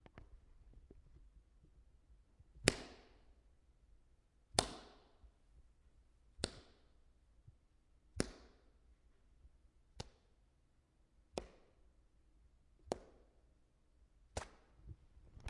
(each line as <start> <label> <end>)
2.7 Bamboo Thwack 3.1
4.6 Bamboo Thwack 5.0